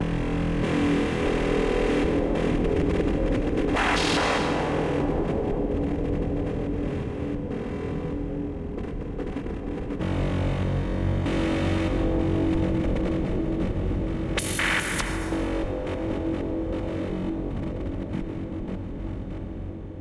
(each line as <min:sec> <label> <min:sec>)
0:14.4 square wave 0:15.4